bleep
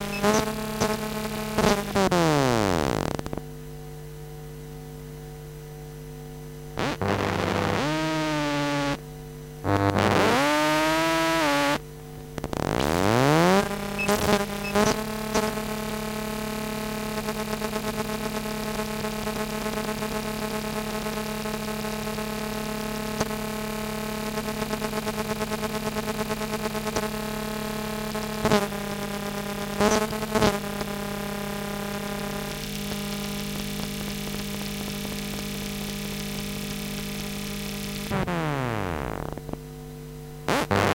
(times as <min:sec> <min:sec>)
0:14.0 0:14.9